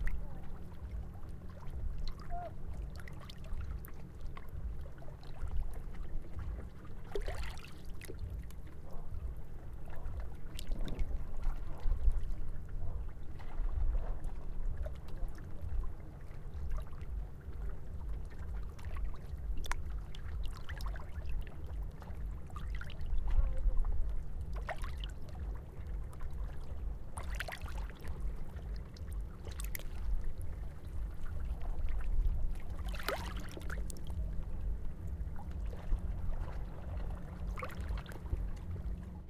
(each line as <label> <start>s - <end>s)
Waves 0.0s - 39.2s